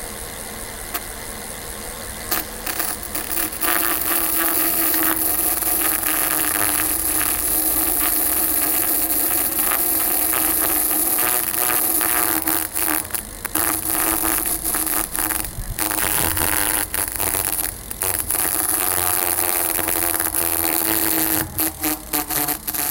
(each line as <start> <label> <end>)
2.2 gears 22.9